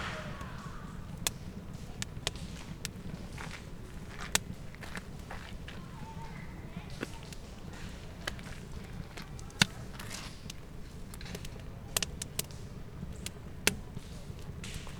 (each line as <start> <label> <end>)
0.0 Campfire 14.9